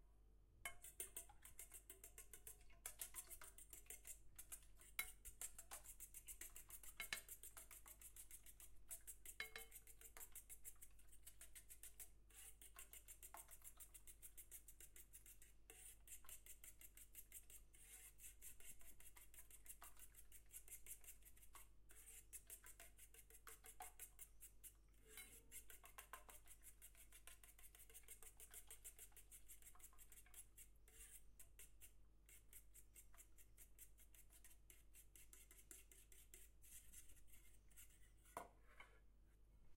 0.6s beating eggs in a iron container 38.4s

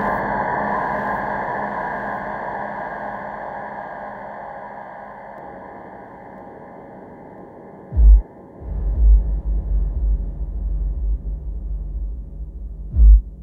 5.0s triple osc 13.4s

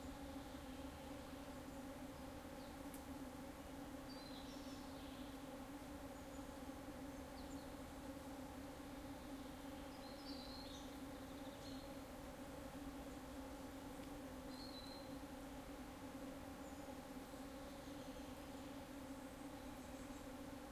0.0s bees 20.7s
0.0s lots of insects 20.7s
3.7s Birds 15.4s
16.2s Birds 20.7s

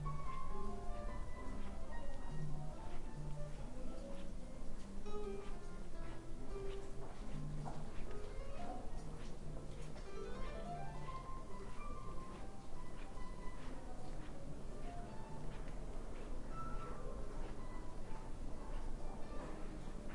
0.0s Music 20.1s
0.0s footsteps 20.1s

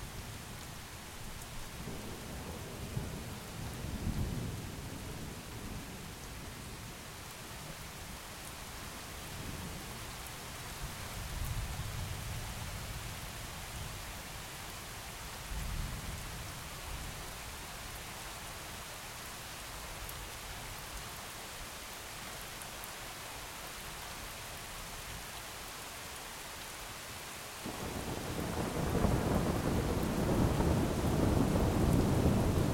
0.0s rain 32.7s

